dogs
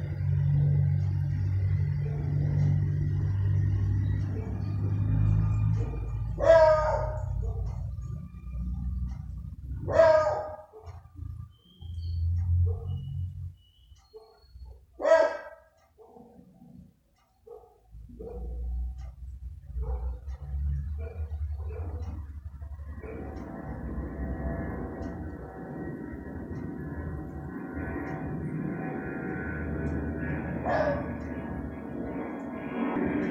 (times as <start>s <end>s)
5.6s 8.2s, 9.1s 11.3s, 12.4s 13.2s, 14.0s 23.5s, 30.6s 31.3s